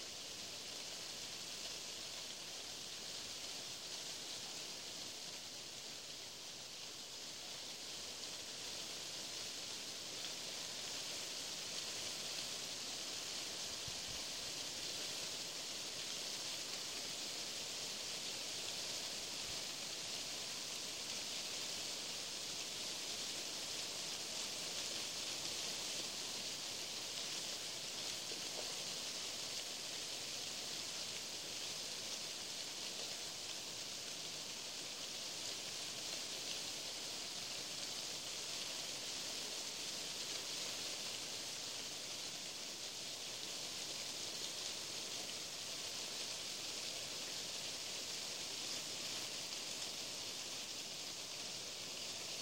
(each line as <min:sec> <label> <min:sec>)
0:00.0 Ash trees with leaves blowing in the wind 0:52.4